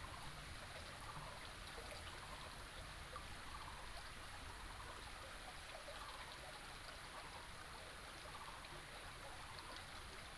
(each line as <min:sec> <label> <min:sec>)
0:00.0 small stream 0:10.3